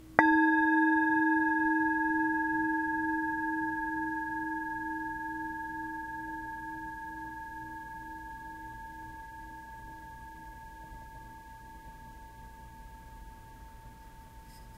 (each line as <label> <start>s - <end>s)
singing bowl hit 0.0s - 13.6s